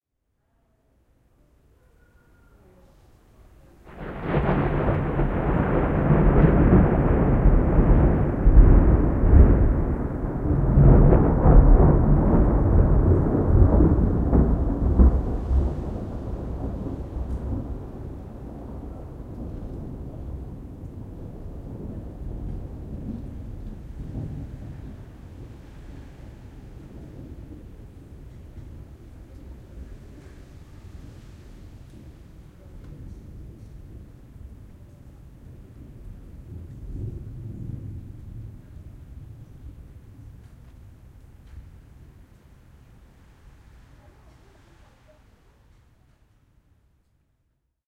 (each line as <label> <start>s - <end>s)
thunderclap 3.8s - 44.7s